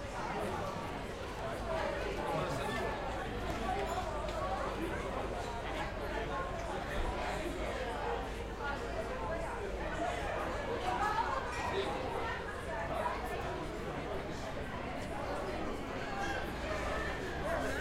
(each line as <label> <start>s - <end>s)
People chatting and eating 0.0s - 17.8s